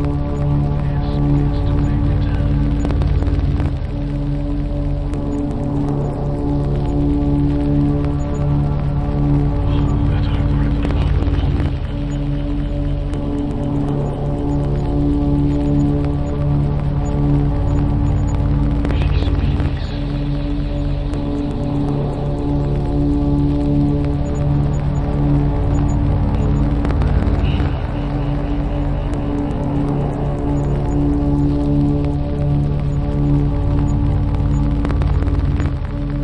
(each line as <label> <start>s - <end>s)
synthesizer 0.0s - 36.2s
vinyl 0.0s - 36.2s
voice 0.5s - 2.9s
voice 9.6s - 12.1s
voice 18.9s - 21.3s
voice 27.0s - 29.9s